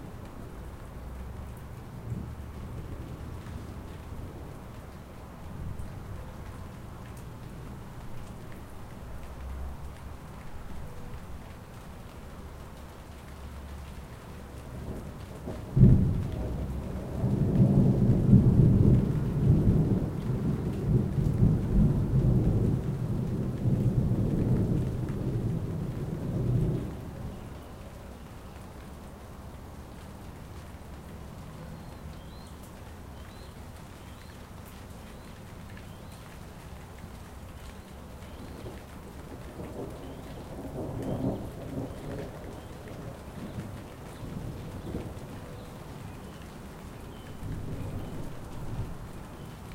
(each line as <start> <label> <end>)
0.0 rain 49.7
14.9 thunder 27.0